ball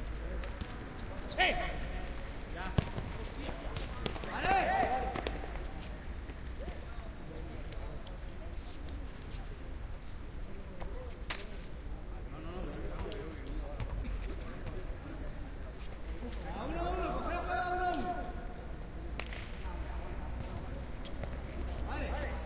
0:02.7 0:05.7, 0:19.1 0:19.7

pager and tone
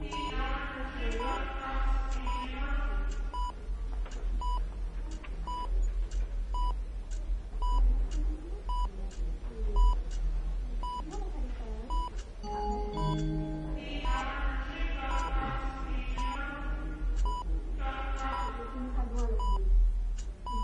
0:11.9 0:14.2

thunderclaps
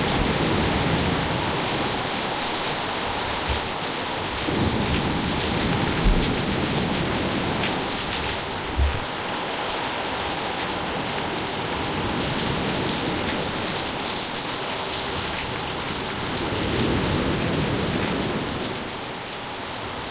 0:00.0 0:09.1

